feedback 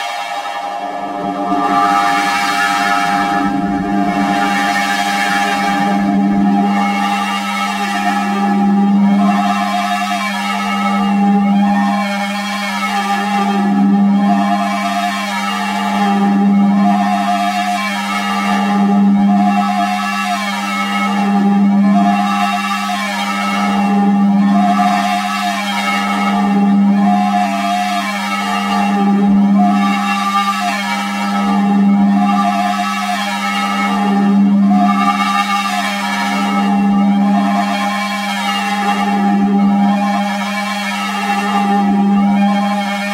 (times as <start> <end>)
0.2 9.5